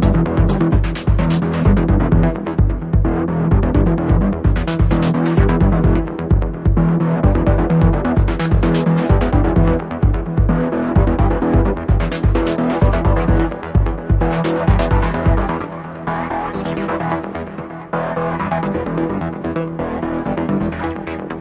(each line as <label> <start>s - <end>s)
drumkit 0.0s - 15.4s
percussions 0.0s - 15.5s
softsynths 0.0s - 21.4s